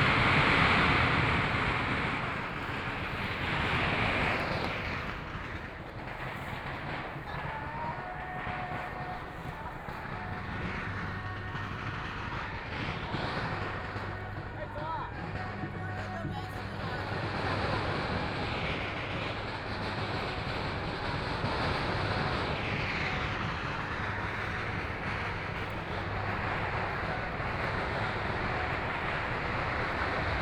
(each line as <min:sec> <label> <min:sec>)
0:00.0 firecrackers 0:30.4